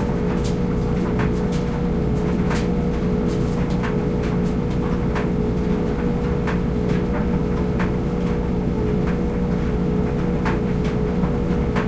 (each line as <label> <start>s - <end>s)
dehumidifier running 0.0s - 11.8s
dryer 0.0s - 11.8s